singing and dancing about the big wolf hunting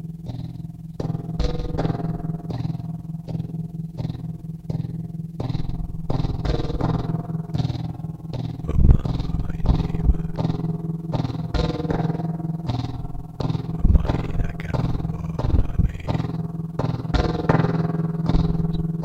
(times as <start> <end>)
8.6 10.7, 13.6 16.3